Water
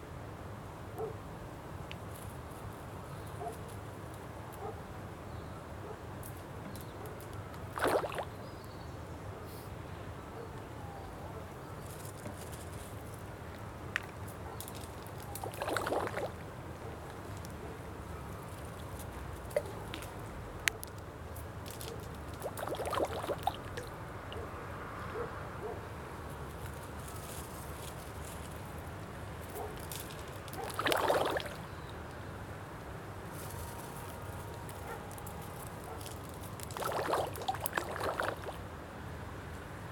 0:07.2 0:08.8, 0:14.9 0:24.5, 0:29.5 0:32.0, 0:35.3 0:39.0

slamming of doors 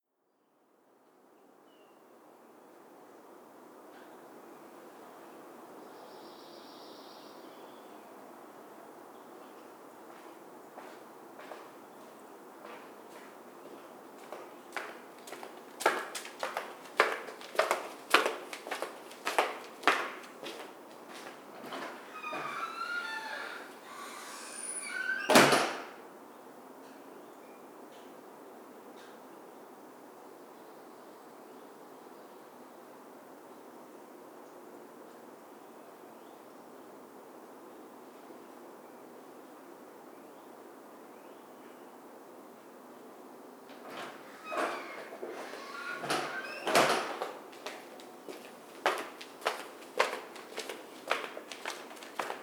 0:21.6 0:26.0, 0:43.8 0:47.4

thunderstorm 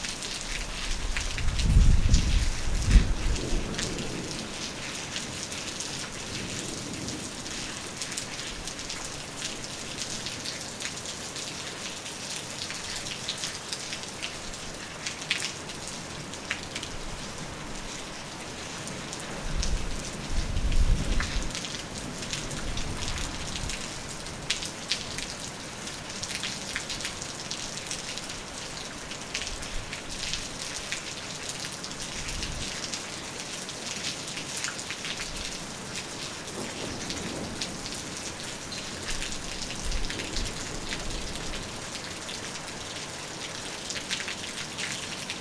0:00.5 0:10.5, 0:18.8 0:25.3, 0:35.1 0:42.3

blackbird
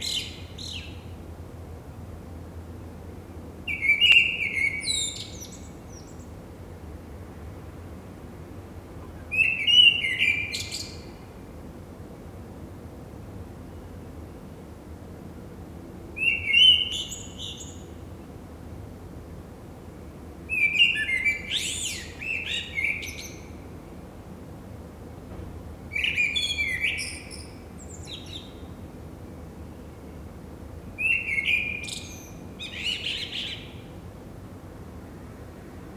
0:25.9 0:28.6, 0:31.0 0:33.9

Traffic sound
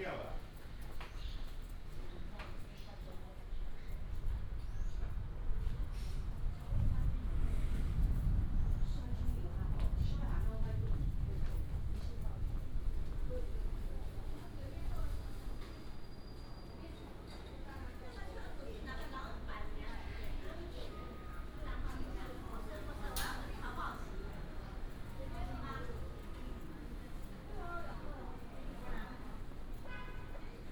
0:20.4 0:30.7

